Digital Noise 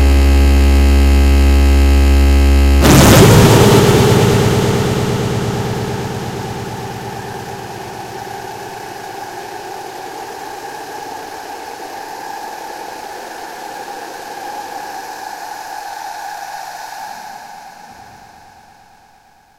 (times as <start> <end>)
2.8 13.5